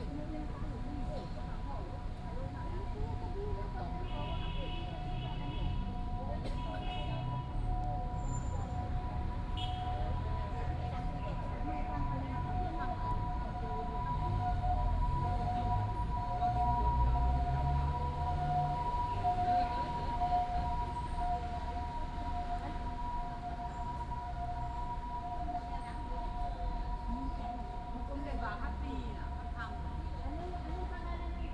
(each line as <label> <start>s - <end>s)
Traffic Sound 0.0s - 31.5s